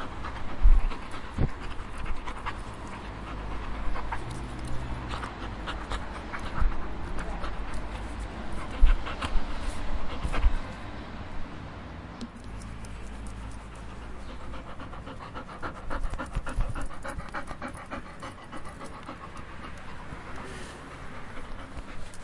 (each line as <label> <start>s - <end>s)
Dog Breathing 0.0s - 10.9s
Dog Breathing 13.0s - 22.2s